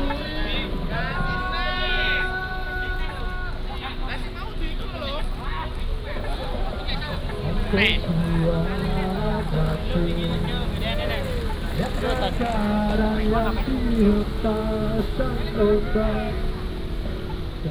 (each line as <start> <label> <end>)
0.0 Traffic sound 17.7
0.0 Walking in the square 17.7